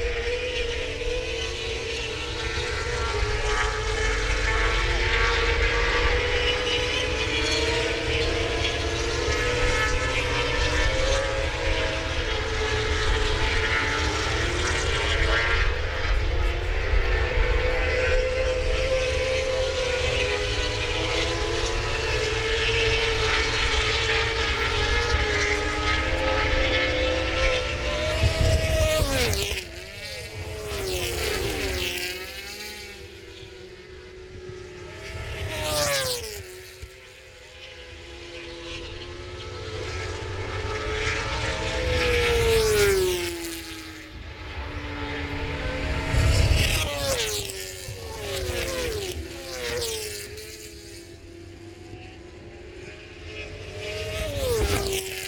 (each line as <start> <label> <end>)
0.0 motorcycle grand prix 55.2